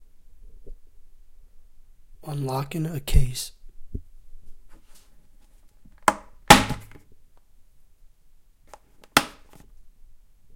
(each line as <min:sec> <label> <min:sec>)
0:08.7 Opening and closing a case 0:09.7